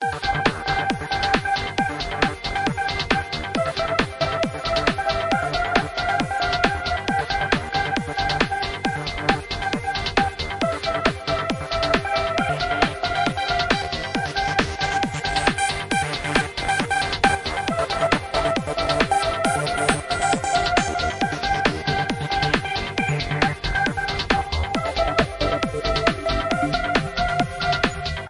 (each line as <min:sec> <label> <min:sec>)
0:00.0 HARD DANCE TECHNO 0:28.2